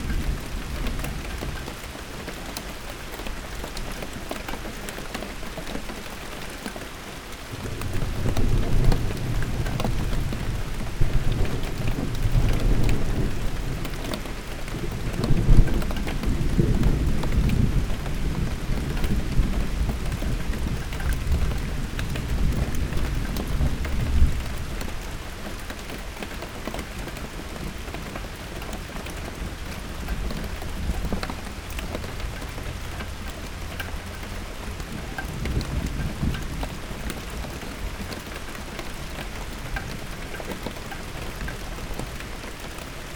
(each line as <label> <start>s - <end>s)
Rain 0.0s - 43.1s